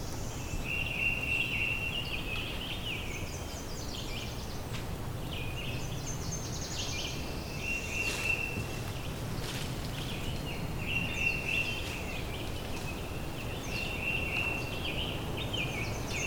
0.0s Birds are singing 16.2s

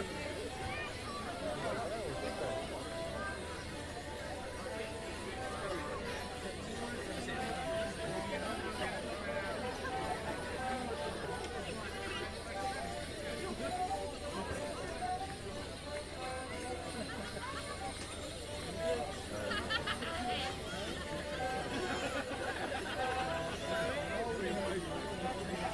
0.0s children 4.6s
11.2s children 24.0s

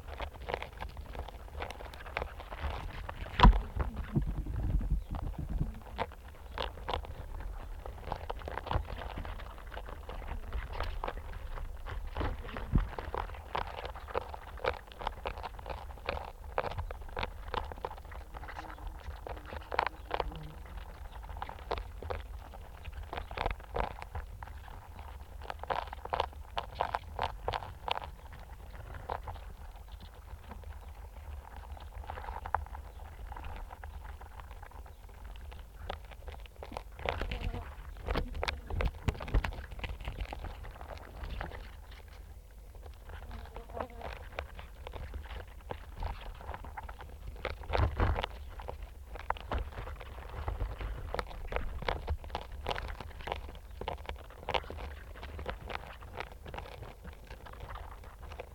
17.7s wasps and flies on the fallen apples 21.0s
35.6s wasps and flies on the fallen apples 40.0s
41.0s wasps and flies on the fallen apples 45.4s

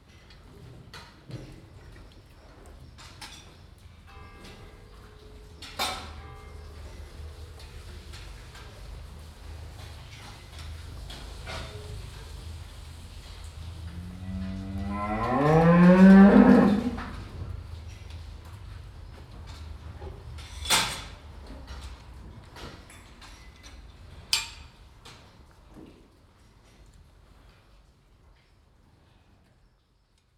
0.0s cows moving inside their boxes 30.3s
4.0s bell from the church 7.4s
13.8s mooing 17.3s

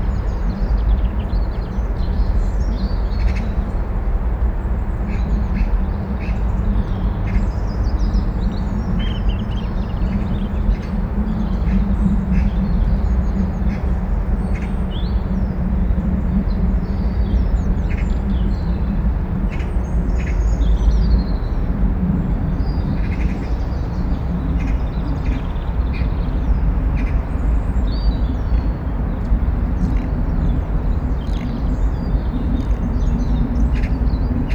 4.6s encircling rustle of wildlife 34.5s

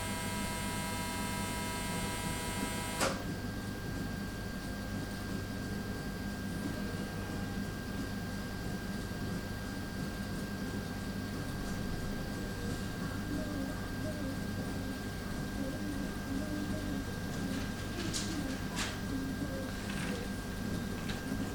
0.0s Machinery 3.2s

